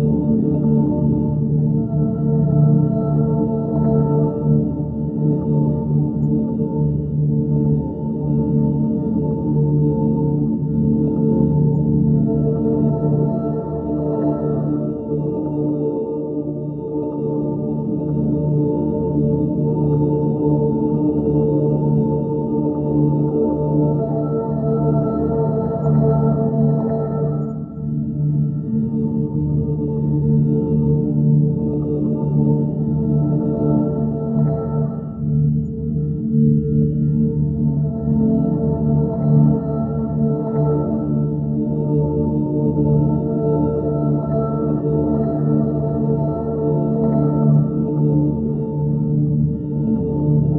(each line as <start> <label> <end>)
0.0 gentle, undulating heavenly choral sound 50.5